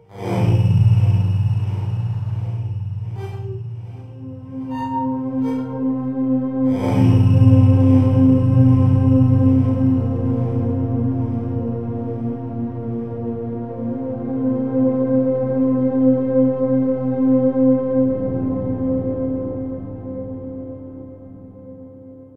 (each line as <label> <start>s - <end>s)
Smooth, flowing synth pad sound 0.0s - 21.4s